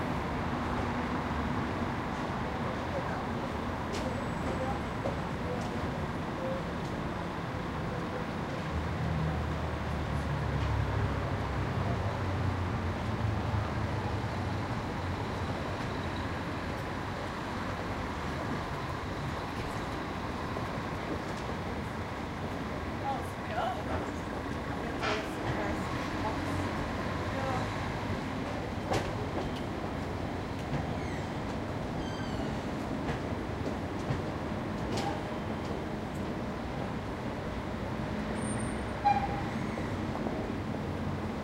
City traffic 0.0 - 41.4
people are walking 2.1 - 7.4
people are walking 15.3 - 37.6

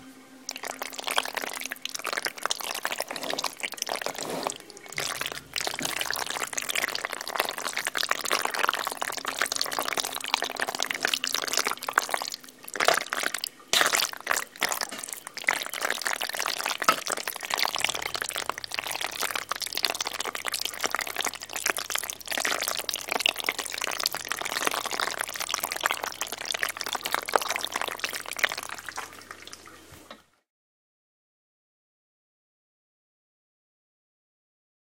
stirring noodles with tomatoes sauce in a pot 0.5 - 29.9

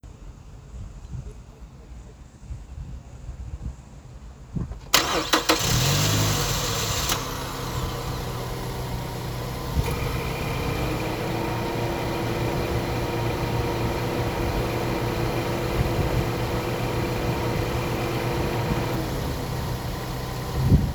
windy day 0.4 - 20.9
Knocking and whines from the starter motor 4.9 - 20.9
initial engine revving 5.0 - 20.9

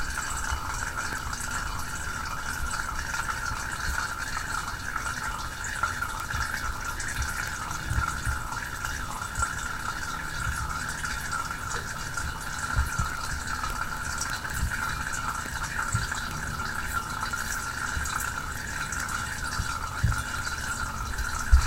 Refilling a Berkey water filter 0.0 - 21.6

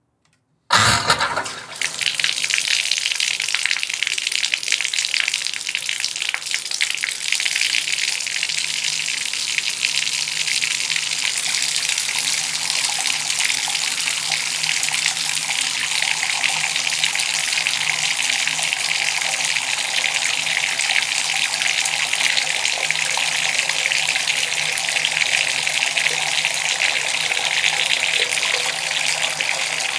air in the pipes which makes a wild noise 0.7 - 2.5
faucet 0.7 - 7.8
faucet 11.4 - 29.9

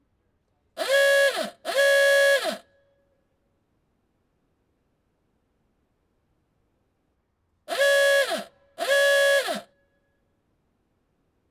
Clifton Roadster horn 0.8 - 2.6
Clifton Roadster horn 7.7 - 9.6

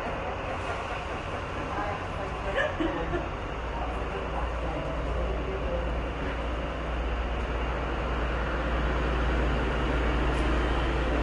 voices 0.0 - 7.1
footsteps of passengers 0.0 - 8.3
train on a distant platform 0.0 - 11.2
footsteps of passengers 9.4 - 11.2

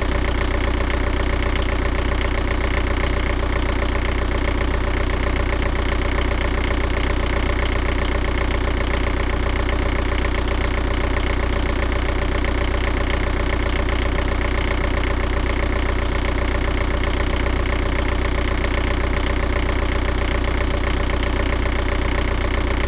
Marine diesel engine 0.0 - 22.8

